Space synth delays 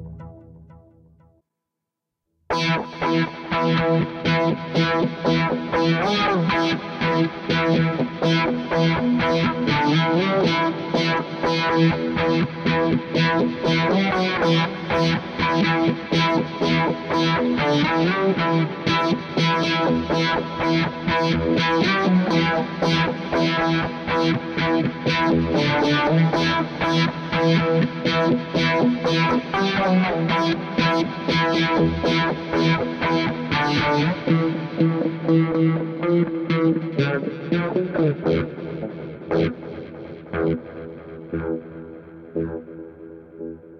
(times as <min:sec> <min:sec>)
0:00.0 0:01.2